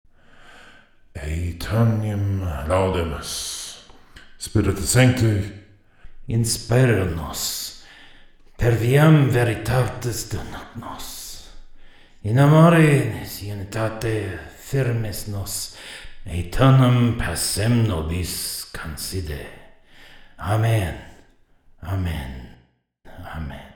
Mid deep voice saying random Latin words 0:01.1 - 0:05.5
Mid deep voice saying random Latin words 0:06.2 - 0:07.9
Mid deep voice saying random Latin words 0:08.6 - 0:11.6
Mid deep voice saying random Latin words 0:12.2 - 0:19.8
Mid deep voice saying random Latin words 0:20.4 - 0:21.2
Mid deep voice saying random Latin words 0:21.8 - 0:23.7

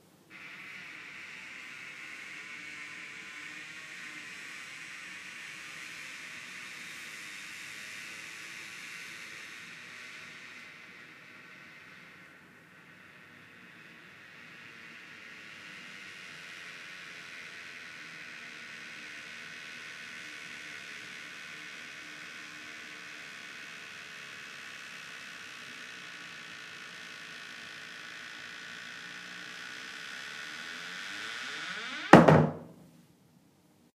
very creaky door 0:25.0 - 0:32.8

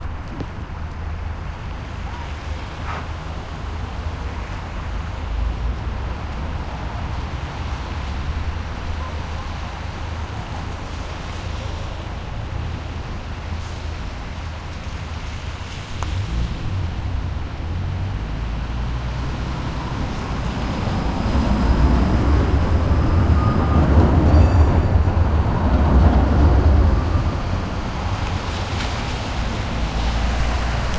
traffic 0:00.0 - 0:30.9
Tramway arrives on station 0:01.6 - 0:15.9
Tramway arrives on station 0:16.5 - 0:30.9

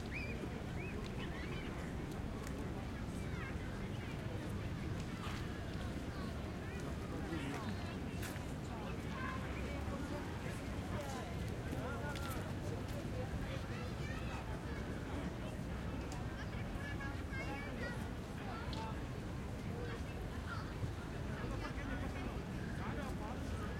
children 0:00.0 - 0:08.3
Medium crowd of Czech people going home 0:00.0 - 0:23.7
children 0:13.4 - 0:15.3

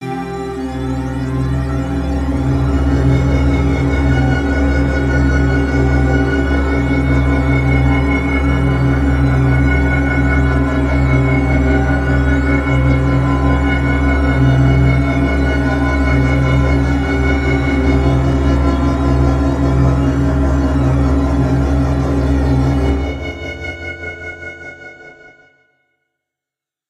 Synth ambient pad 0:00.0 - 0:25.4

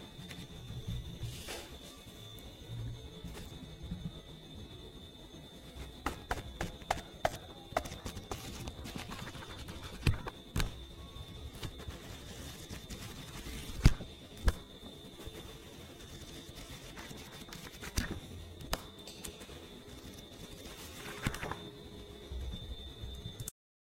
Book Turning 0:07.8 - 0:10.7
Book Turning 0:20.8 - 0:21.6

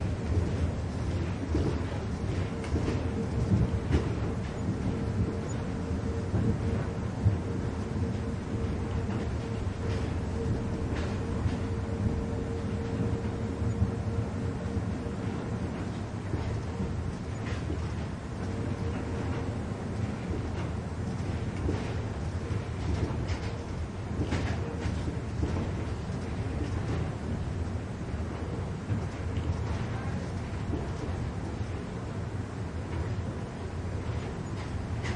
wheels and movent of the train 0:00.0 - 0:35.1

